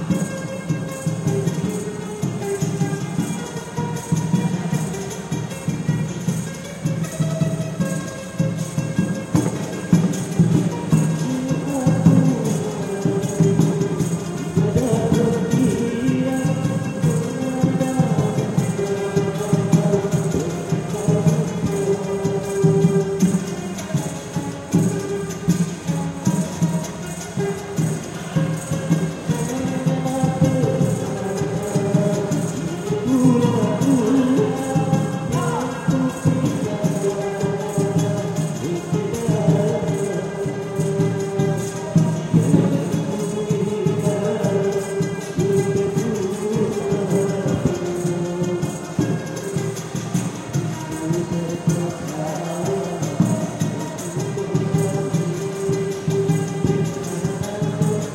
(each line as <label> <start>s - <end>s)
singing 10.2s - 24.2s
singing 27.2s - 58.1s